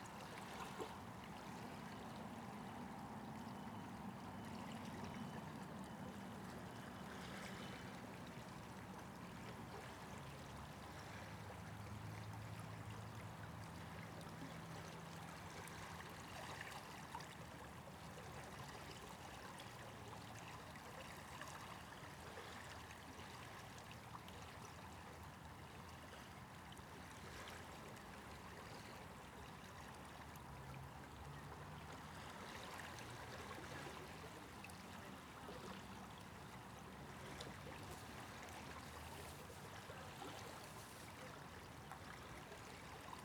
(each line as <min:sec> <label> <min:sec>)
0:30.5 water was rushing past me, swirling and bubbling 0:43.2